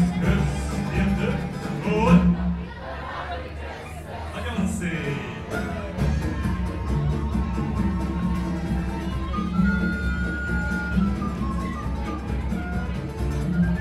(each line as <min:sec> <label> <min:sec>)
0:00.0 Folk performance 0:13.8